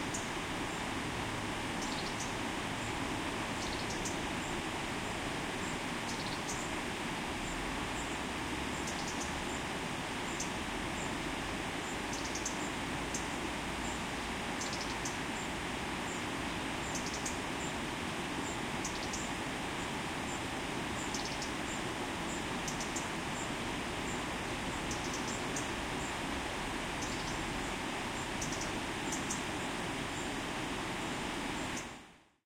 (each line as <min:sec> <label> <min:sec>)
0:00.0 river 0:32.3
0:01.7 birds 0:04.6
0:05.6 birds 0:06.8
0:07.4 birds 0:17.8
0:18.4 birds 0:26.3
0:26.9 birds 0:30.4